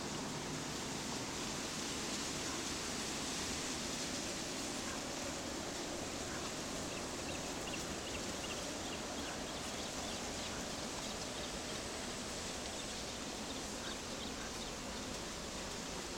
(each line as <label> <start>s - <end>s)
white noises of reeds 0.0s - 16.1s